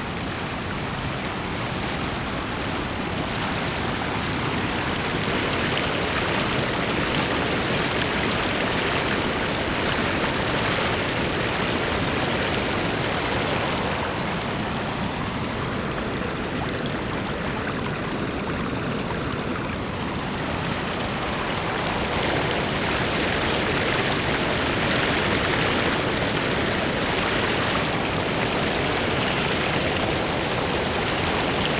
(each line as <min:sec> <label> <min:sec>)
0:00.0 Water stream 0:31.7